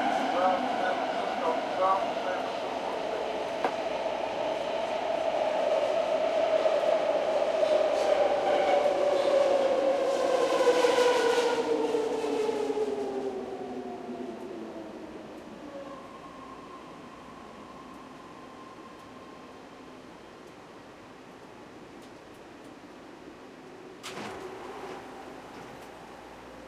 passenger chatter 0.0 - 6.0
commuter train 0.0 - 26.6

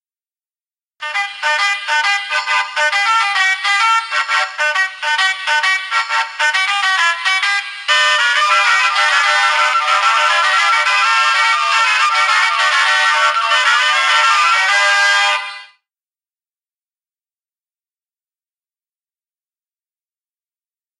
musical horn that plays 3 songs 1.0 - 7.2
musical horn that plays 3 songs 7.9 - 15.7

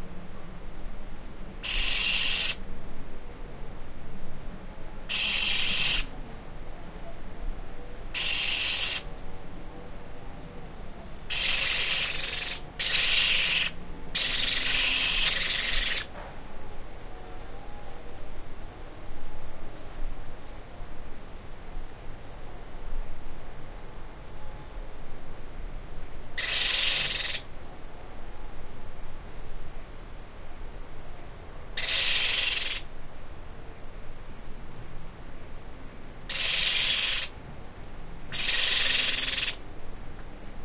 baby pionus (parrots) screaming on the roof 1.6 - 2.6
baby pionus (parrots) screaming on the roof 5.1 - 6.1
baby pionus (parrots) screaming on the roof 8.1 - 9.0
baby pionus (parrots) screaming on the roof 11.3 - 16.1
baby pionus (parrots) screaming on the roof 26.4 - 27.4
baby pionus (parrots) screaming on the roof 31.8 - 32.8
baby pionus (parrots) screaming on the roof 36.3 - 37.3
baby pionus (parrots) screaming on the roof 38.3 - 39.6

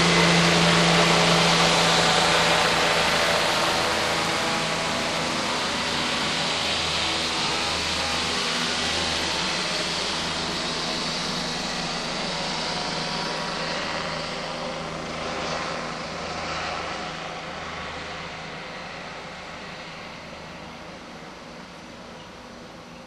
Police helicopter 0.0 - 23.0

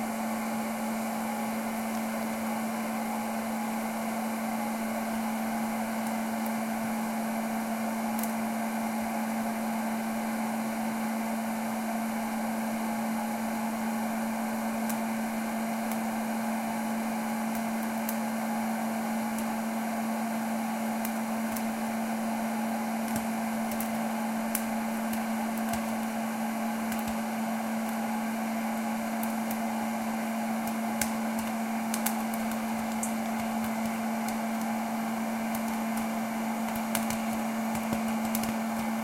hot-air popcorn making machine 0.0 - 39.0
popping 26.8 - 28.0
popping 30.6 - 39.0

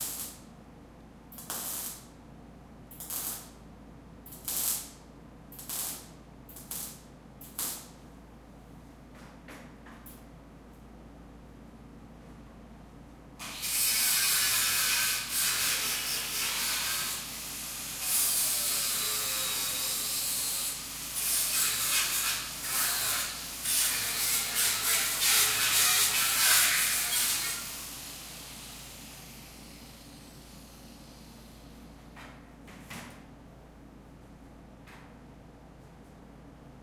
welding sounds 0.0 - 0.4
welding sounds 1.4 - 2.1
welding sounds 2.9 - 3.6
welding sounds 4.3 - 5.0
welding sounds 5.6 - 8.0
welding sounds 13.5 - 29.3

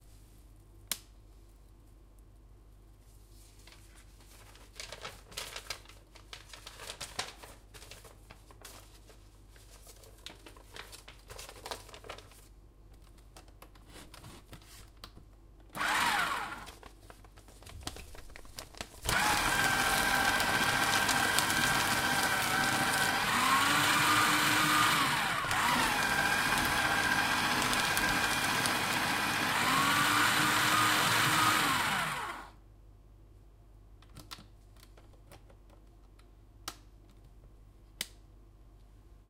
shredder 15.8 - 16.7
shredder 19.1 - 32.6

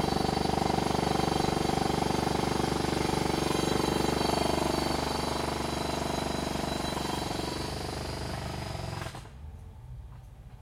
Jack Hammer hammering away 0.0 - 9.3

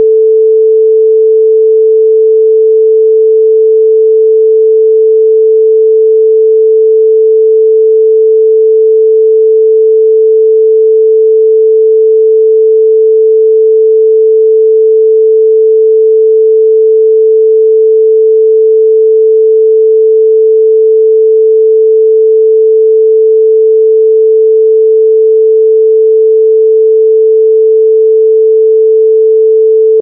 long sine 0.0 - 30.0

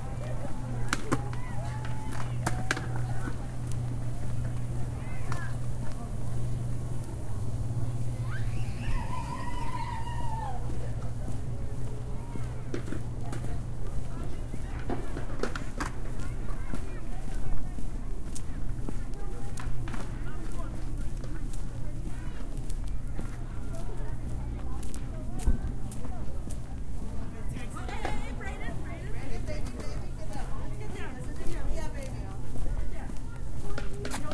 foot steps 0.0 - 34.3
cheering 1.2 - 3.0
cheering 8.2 - 10.8

